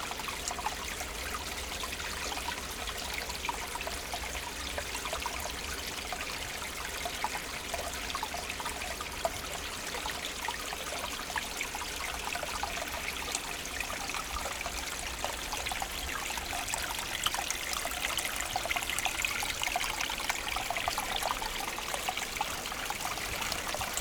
17.0s Water sound 24.0s

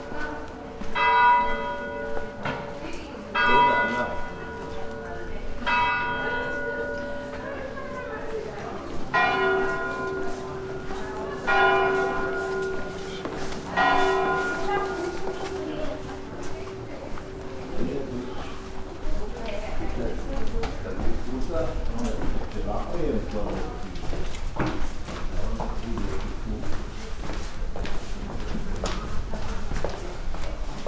0.0s passers-by wearing audible clothing 30.8s
0.0s walking through stony streets 30.8s

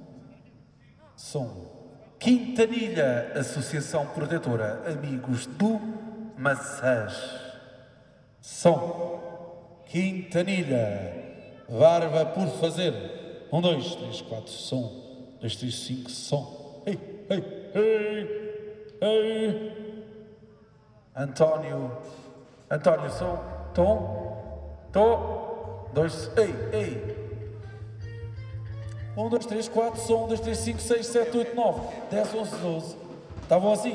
22.7s soundcheck 33.9s

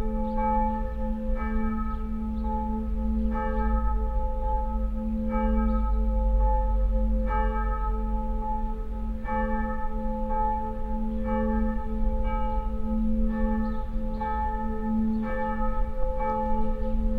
0.0s church bells 17.1s

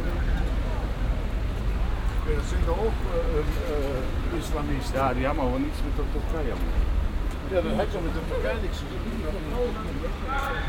2.0s konversationen wartender taxifahrer 10.6s

